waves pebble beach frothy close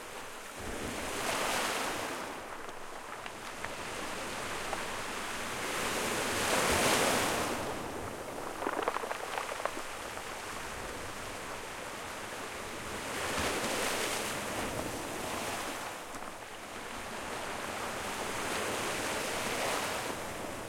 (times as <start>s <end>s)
0.2s 11.5s